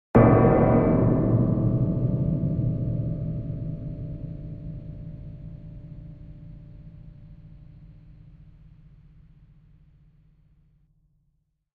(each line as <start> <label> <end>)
0.2 metal sculpture struck 6.5